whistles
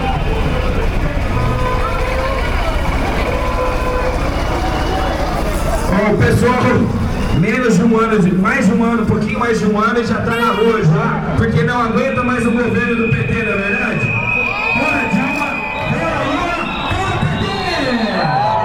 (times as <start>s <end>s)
12.0s 18.6s